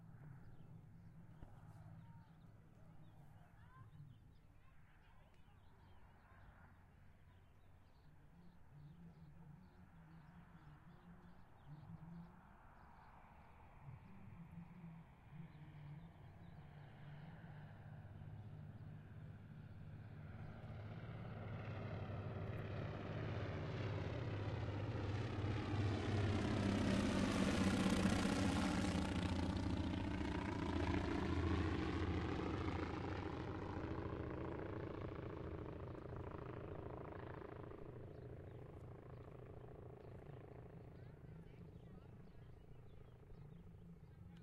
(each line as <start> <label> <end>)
0.0 airplane 44.4